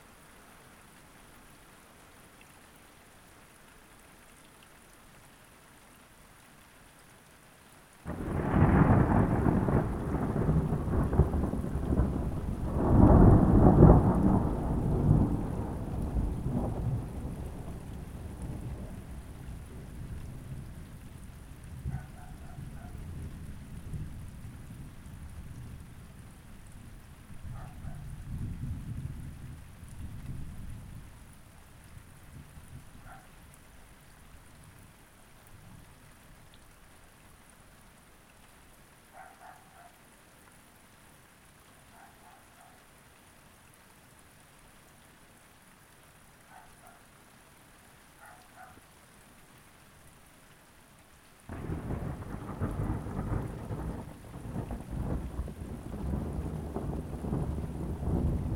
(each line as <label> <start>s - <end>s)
passing thunderstorm 8.1s - 20.6s
passing thunderstorm 51.5s - 58.5s